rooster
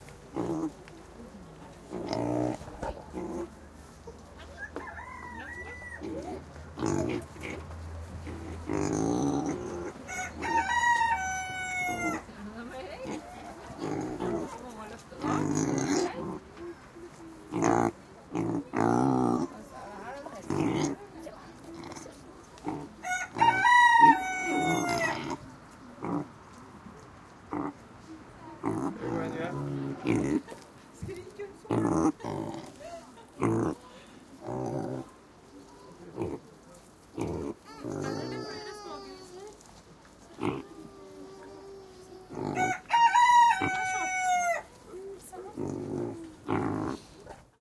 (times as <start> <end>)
4.4 6.4, 10.0 12.3, 23.0 25.3, 37.6 39.3, 42.3 44.8